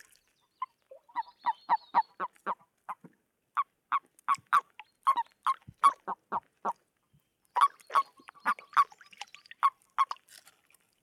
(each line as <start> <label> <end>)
3.9 mating frogs 6.8
7.6 mating frogs 9.0